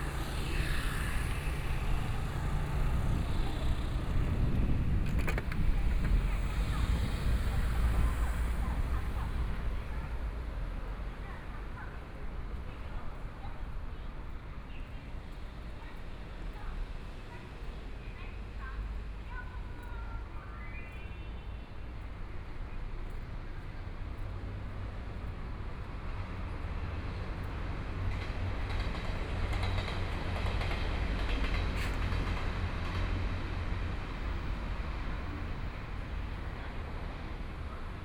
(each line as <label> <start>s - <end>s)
Traffic Sound 0.0s - 38.0s
Walking in the collection of residential communities 0.0s - 38.0s